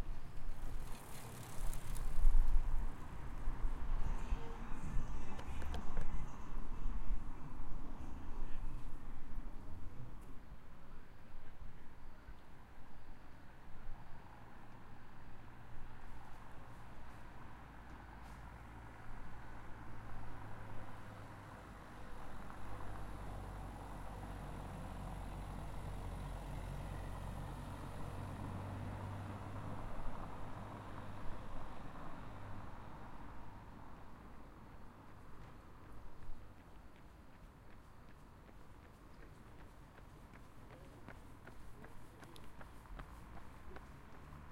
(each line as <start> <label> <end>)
0.0 wind 44.5
0.0 cars 44.5
34.1 runners 44.5